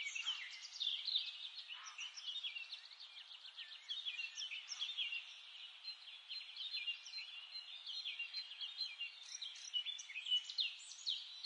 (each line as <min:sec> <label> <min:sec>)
0:00.0 birds singing 0:11.4